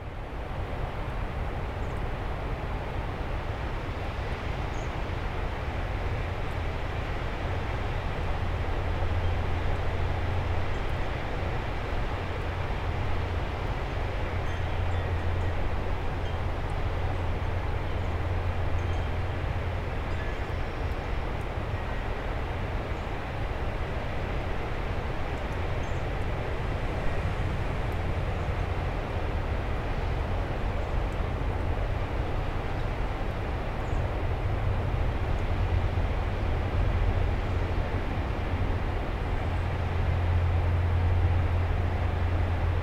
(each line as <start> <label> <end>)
0.0 passing trains 42.8